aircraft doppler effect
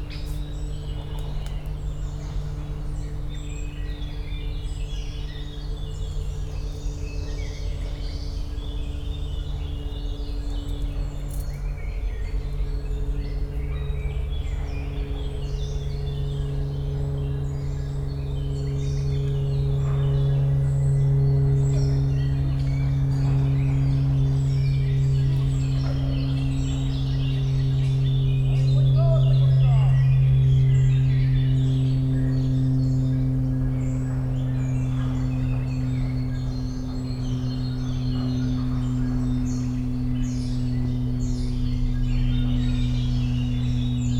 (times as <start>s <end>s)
19.7s 44.1s